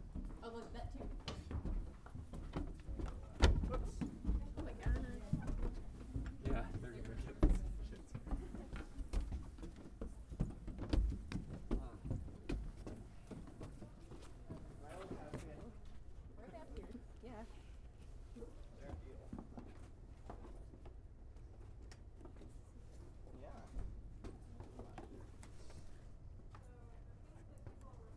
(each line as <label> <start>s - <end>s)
Walking up the stairs 0.0s - 28.1s